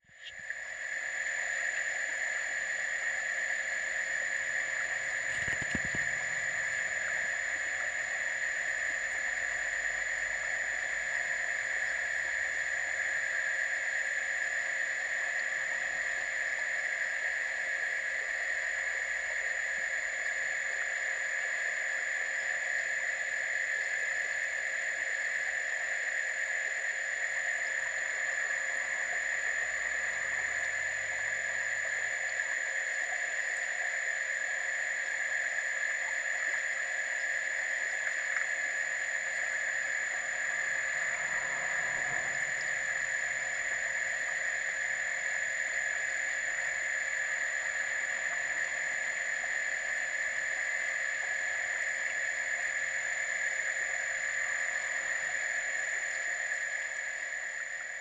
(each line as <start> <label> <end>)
4.7 Fountains 8.2